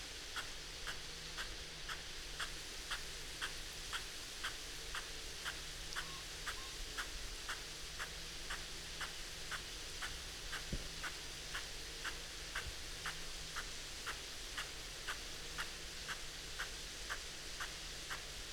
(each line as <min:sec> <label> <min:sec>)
0:03.5 field irrigation system 0:12.7